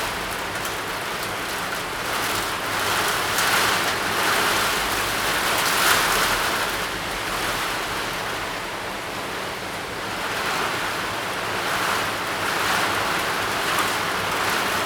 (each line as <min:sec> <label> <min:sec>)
0:00.0 rain 0:14.8